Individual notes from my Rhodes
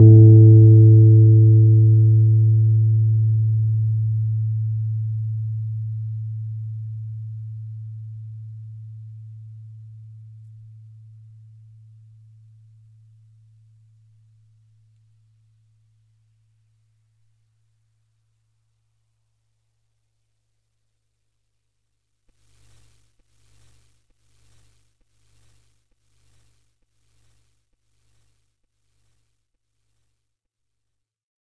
0:00.0 0:09.3

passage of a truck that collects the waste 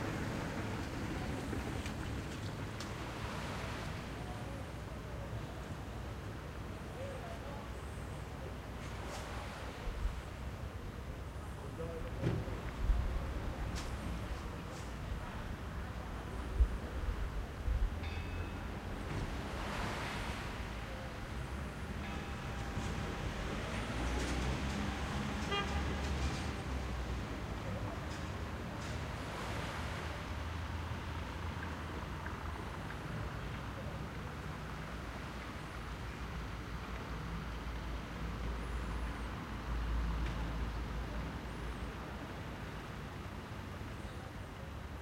0:00.0 0:04.2, 0:18.3 0:43.6

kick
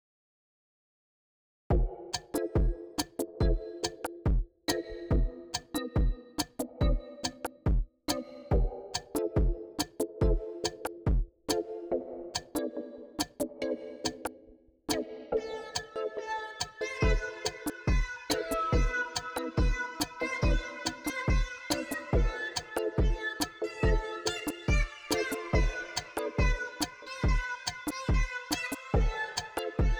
0:01.7 0:02.0

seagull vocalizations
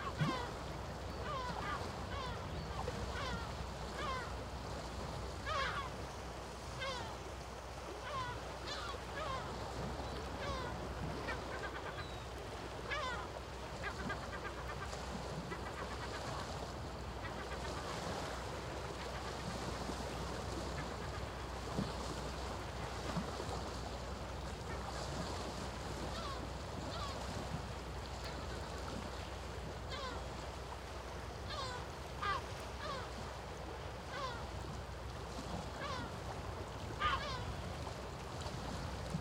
0:00.0 0:04.4, 0:05.4 0:06.1, 0:06.7 0:07.2, 0:07.9 0:19.5, 0:20.6 0:21.4, 0:26.0 0:27.3, 0:29.1 0:30.3, 0:31.4 0:33.2, 0:34.0 0:34.5, 0:35.7 0:36.3, 0:36.9 0:37.6

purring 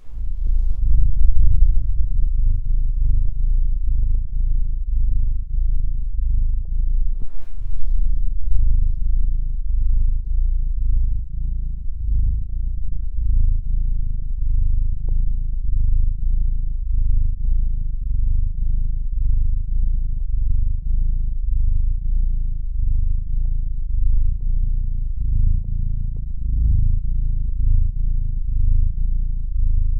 0:00.0 0:22.0

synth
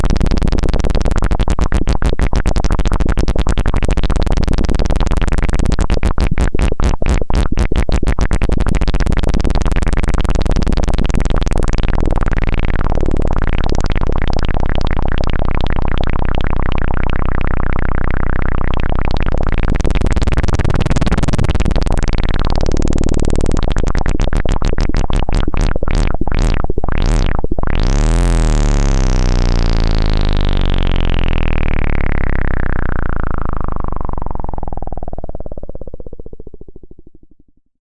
0:12.0 0:36.8

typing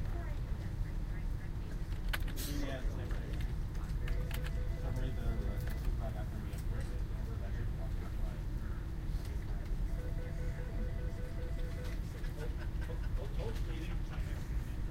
0:04.0 0:04.6

